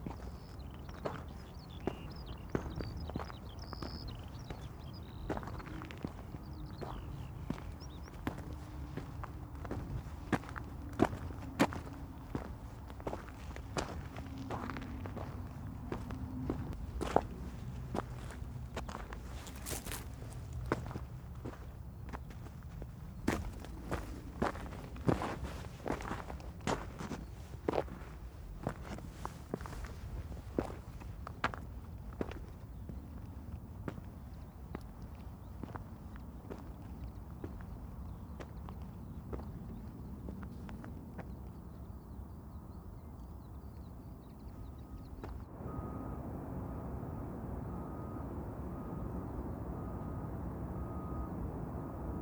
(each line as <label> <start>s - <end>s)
my footsteps walking over the dead village 0.0s - 52.2s